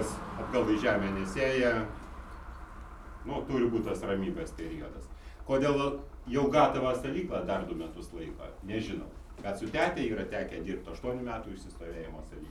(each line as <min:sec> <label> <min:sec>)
0:00.0 Brewer R. Cizas speaks 0:02.0